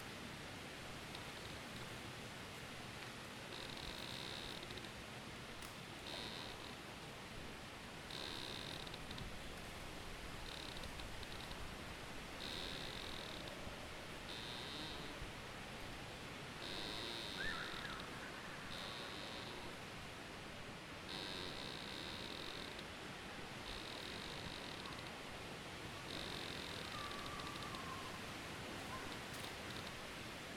Trees creaking in the wind 0.0 - 30.5

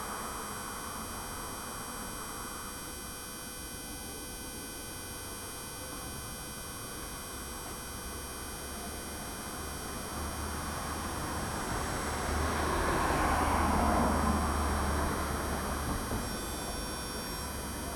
buzz of a small tram power distribution station 0.0 - 17.9

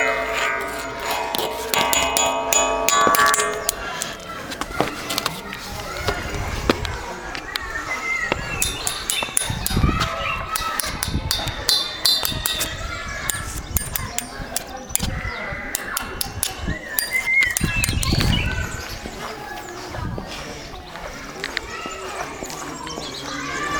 Metal railing 0.0 - 7.6
Walking through the public park 0.0 - 23.7
park life 0.0 - 23.7
Metal railing 8.2 - 18.6

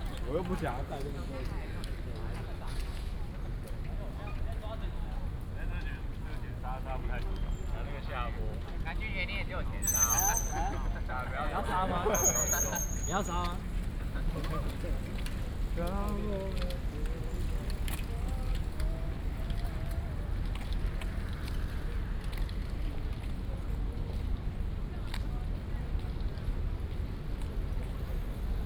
walking in the university 0.0 - 28.6
Traffic Sound 5.0 - 24.7
Bicycle sound 9.8 - 24.3
Traffic Sound 25.4 - 28.6

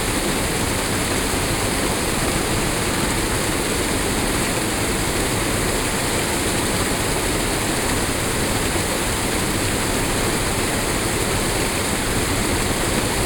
WWTP waterfall 0.0 - 13.2

